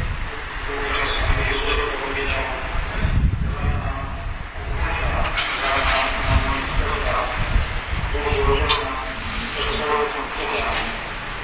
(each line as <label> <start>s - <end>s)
pedestrians 0.0s - 11.4s
religious procession 0.0s - 11.4s
tramways 0.0s - 11.4s
cars 4.4s - 11.4s